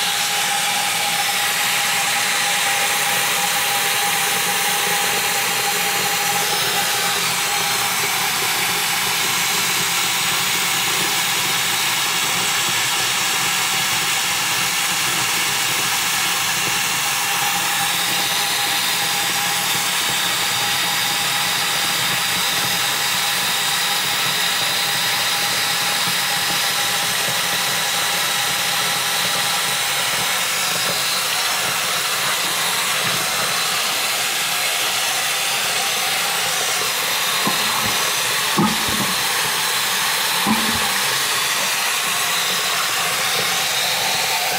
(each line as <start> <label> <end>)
36.2 Water In Sink 43.7
37.3 pulling the plug 39.6
40.4 pulling the plug 41.6